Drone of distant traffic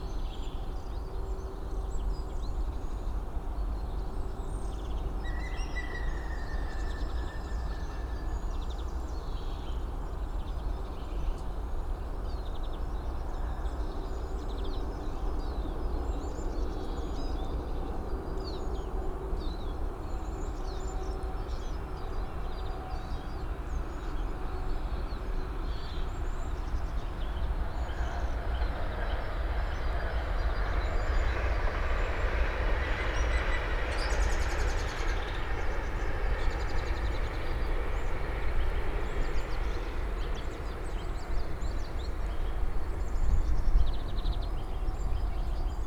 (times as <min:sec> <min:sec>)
0:23.6 0:45.8